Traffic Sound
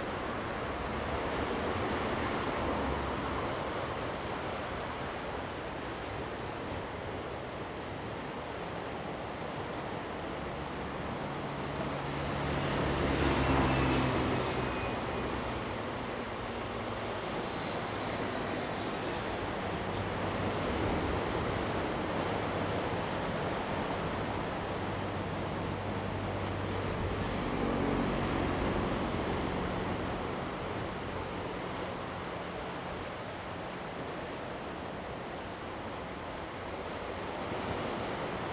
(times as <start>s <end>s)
11.4s 21.7s